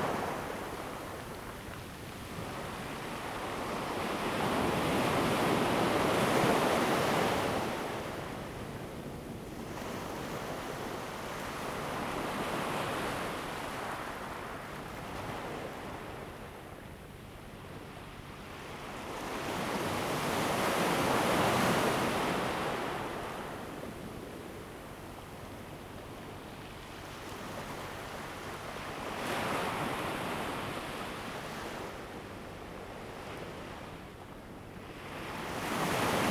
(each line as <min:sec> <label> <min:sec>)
0:17.7 waves 0:36.3